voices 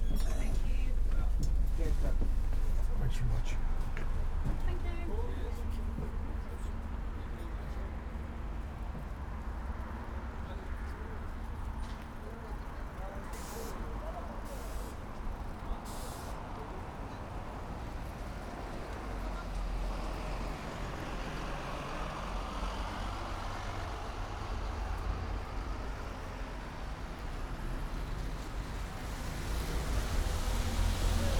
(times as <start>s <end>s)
0.0s 8.3s